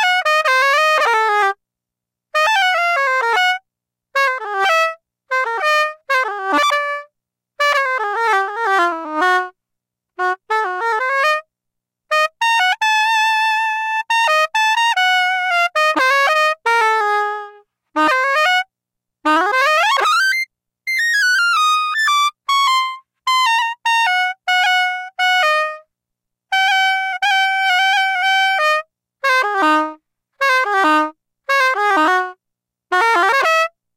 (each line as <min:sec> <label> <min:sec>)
0:10.2 saxophone emulation 0:11.5
0:12.1 saxophone emulation 0:18.7
0:19.3 saxophone emulation 0:25.9
0:26.5 saxophone emulation 0:33.8